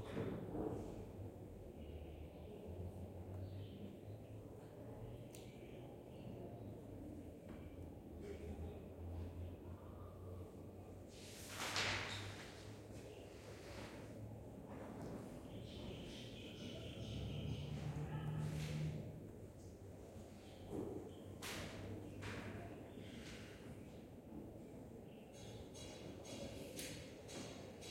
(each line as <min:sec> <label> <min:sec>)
0:11.3 paper flipping 0:12.6
0:25.2 small sound of a construction work 0:27.9